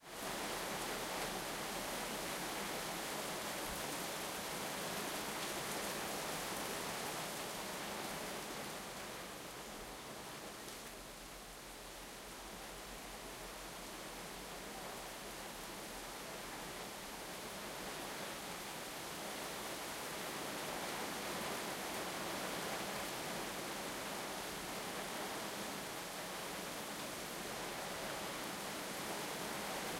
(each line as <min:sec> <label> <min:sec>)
0:00.0 heavy rain 0:29.9